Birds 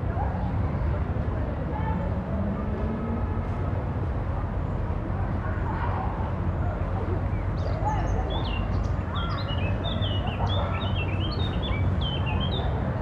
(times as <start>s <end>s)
7.0s 13.0s